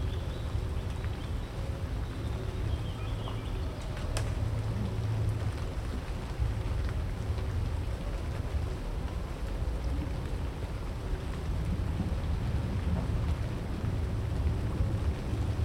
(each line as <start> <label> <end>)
0.0 birds 5.0
0.0 rain 15.6